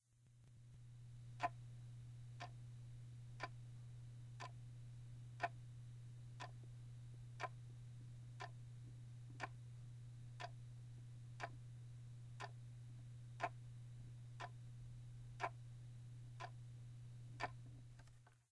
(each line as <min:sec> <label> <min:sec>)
0:09.4 clock 0:09.6
0:17.4 clock 0:17.6